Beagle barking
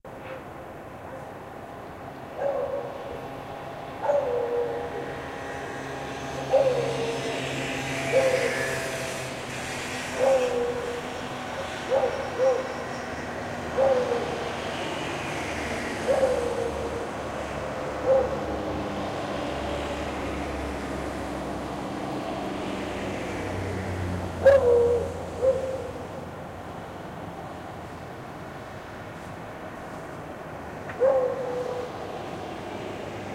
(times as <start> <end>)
2.4 3.0, 4.0 4.8, 31.0 31.9